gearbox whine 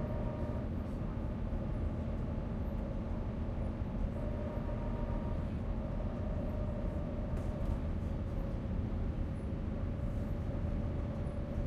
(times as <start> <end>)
0.0 0.6